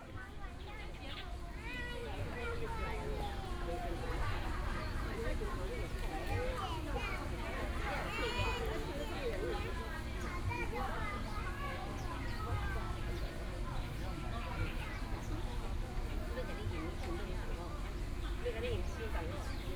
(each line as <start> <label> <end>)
10.3 Child 12.7